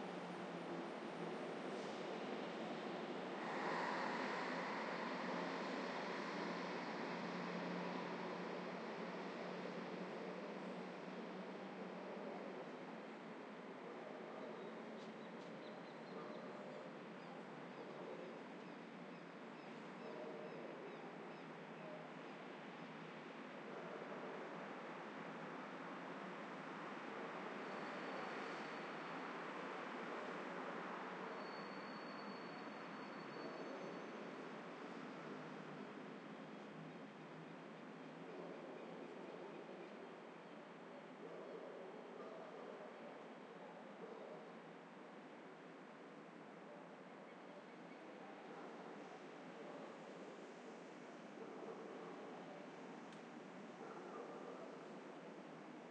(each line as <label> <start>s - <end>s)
traffic 0.0s - 14.0s